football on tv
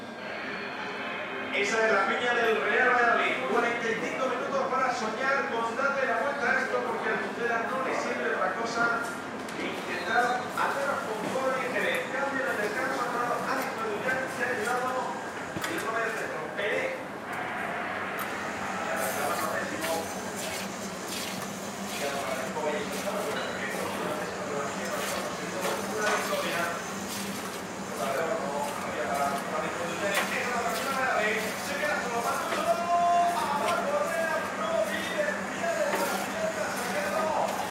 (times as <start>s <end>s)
0.0s 7.5s, 15.9s 20.6s